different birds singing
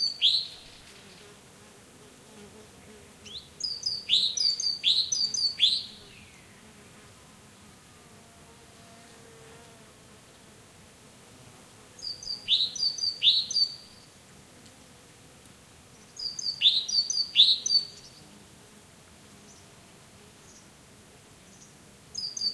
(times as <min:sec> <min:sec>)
0:03.2 0:06.6, 0:12.0 0:14.0, 0:16.0 0:18.2